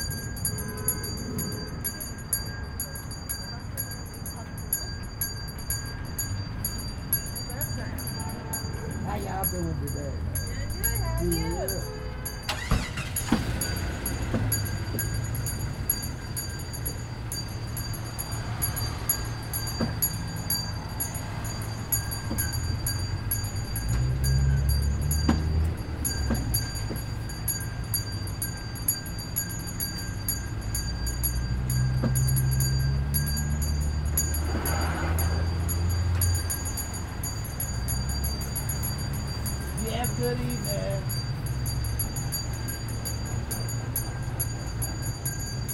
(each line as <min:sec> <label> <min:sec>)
0:00.0 cars 0:45.7
0:00.0 ringing a bell 0:45.7
0:07.4 talking to people 0:12.8
0:10.6 shopping carts 0:15.5
0:39.7 talking to people 0:41.2